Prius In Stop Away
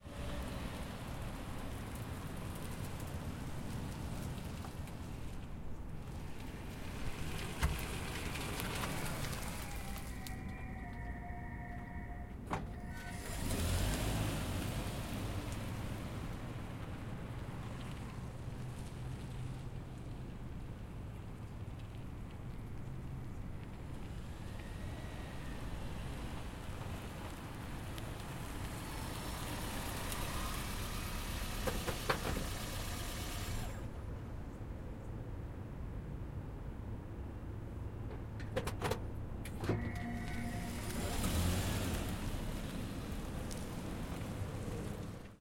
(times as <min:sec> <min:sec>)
0:09.0 0:15.0